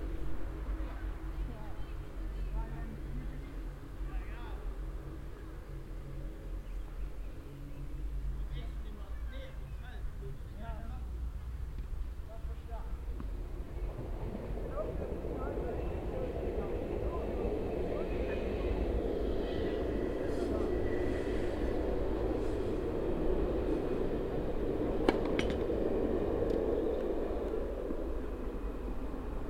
train passing by 0.0 - 29.4

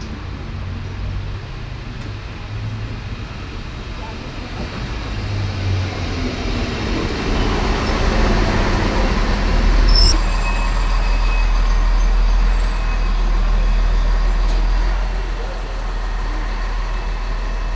ein- und ausfahrt der diesel-lokomotive 0.0 - 17.7

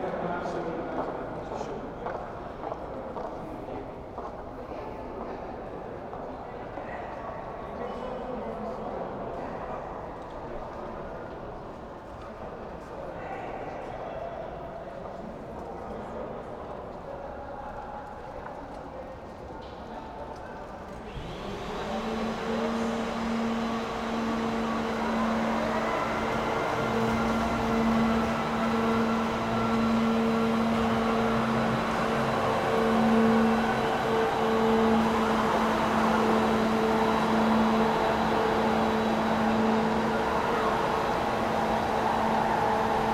few people 20.2 - 43.1
cleaning vehicle 21.1 - 43.1
announcements 21.9 - 43.1

